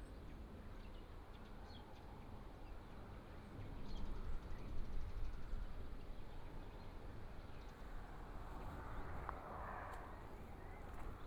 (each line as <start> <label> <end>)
7.7 Traffic Sound 11.2